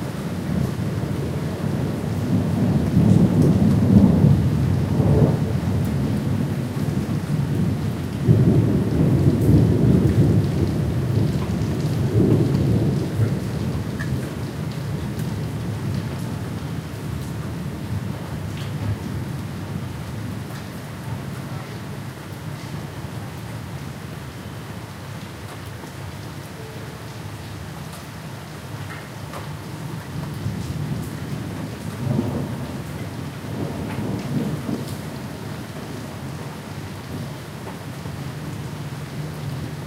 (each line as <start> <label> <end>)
0.0 Rain 39.8
0.5 Thunder 16.0
30.4 Thunder 36.1